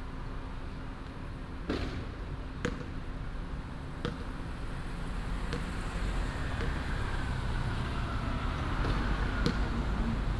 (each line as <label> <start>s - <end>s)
traffic sound 3.1s - 10.3s